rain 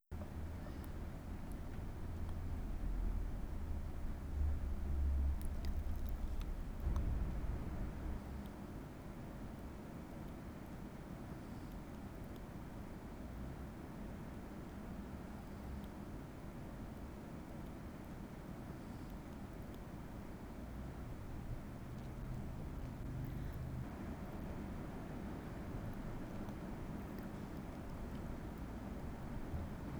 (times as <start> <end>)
1.3 8.2